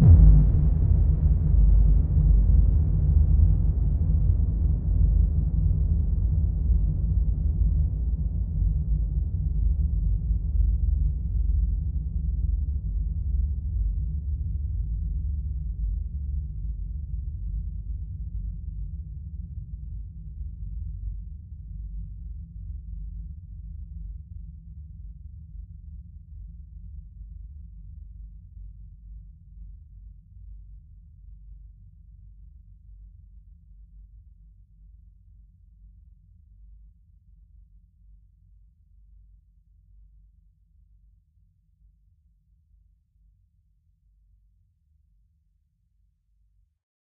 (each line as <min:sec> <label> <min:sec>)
0:00.0 Explosion 0:05.4